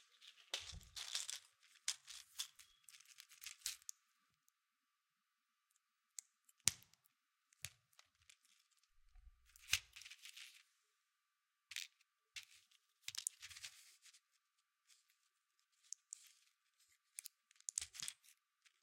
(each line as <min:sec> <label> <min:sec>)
0:00.0 pill 0:04.0
0:11.8 pill 0:14.2
0:14.9 pill 0:18.8